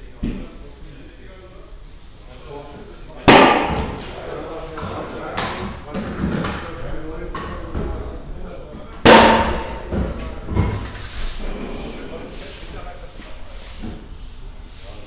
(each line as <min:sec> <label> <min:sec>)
0:00.0 mechanics talking 0:15.0
0:10.8 pneumatic pressure and air release 0:12.7
0:13.5 pneumatic pressure and air release 0:15.0